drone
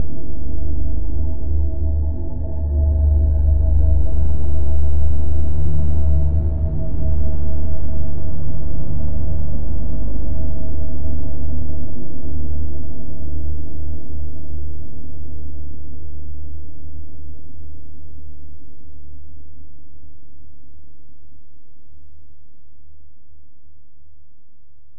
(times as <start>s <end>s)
0.0s 14.4s